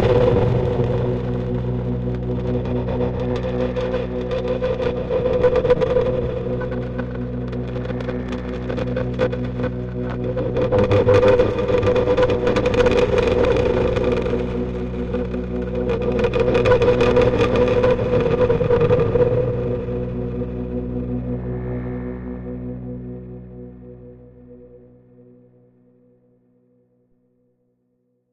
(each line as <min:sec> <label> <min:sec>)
0:00.0 Processed french horn sounds 0:25.3
0:00.0 drone 0:26.0